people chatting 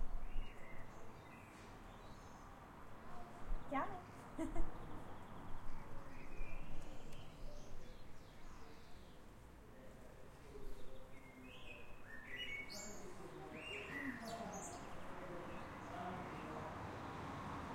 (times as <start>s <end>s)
3.7s 4.0s, 12.7s 16.9s